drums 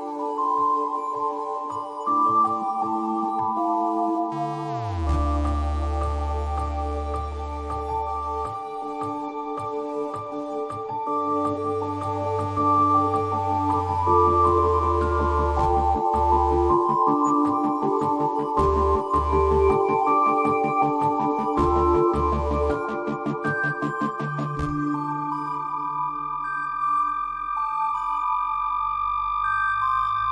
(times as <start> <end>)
13.5 24.9